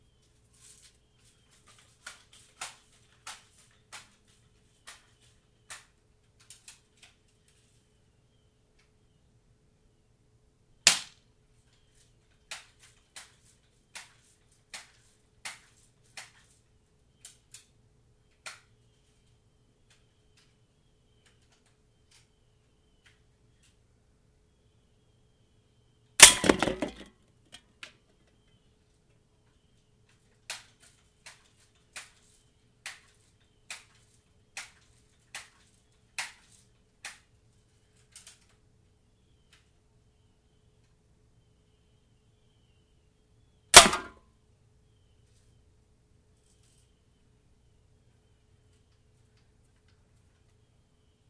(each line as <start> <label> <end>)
10.9 Shooting two cans with the bb gun 11.2
26.2 Shooting two cans with the bb gun 27.1
43.7 Shooting two cans with the bb gun 44.2